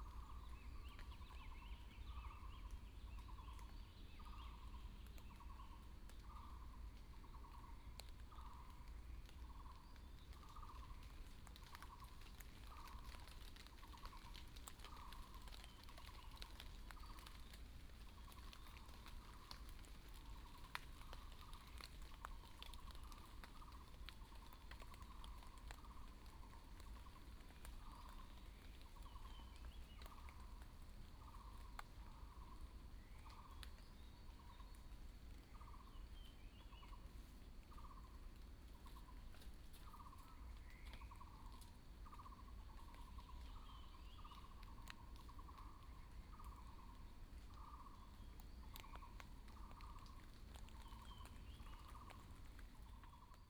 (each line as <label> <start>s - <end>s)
Bird sounds 0.0s - 38.2s
Bird sounds 38.8s - 53.4s